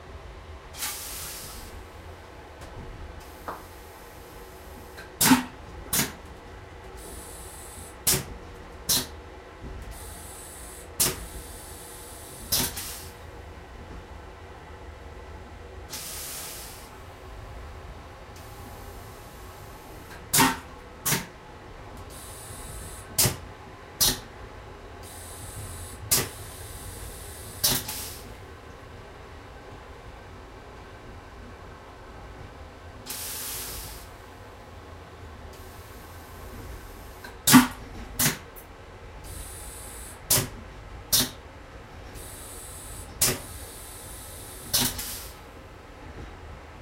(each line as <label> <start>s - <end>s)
train toilet flush 0.0s - 2.3s
moving train 0.0s - 46.8s
train toilet flush 3.1s - 13.6s
train toilet flush 15.8s - 17.3s
train toilet flush 18.3s - 21.4s
train toilet flush 22.0s - 28.7s
train toilet flush 33.0s - 34.7s
train toilet flush 35.3s - 46.3s